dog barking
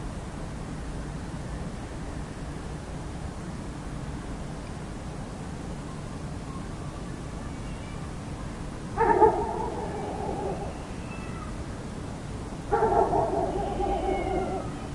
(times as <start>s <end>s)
9.0s 10.6s, 12.7s 14.7s